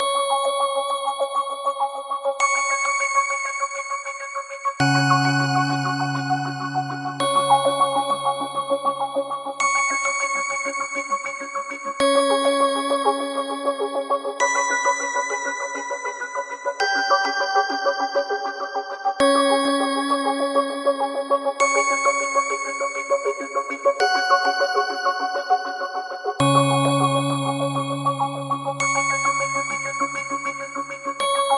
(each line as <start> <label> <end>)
4.8 bell sounds 8.6
4.8 Pad 9.2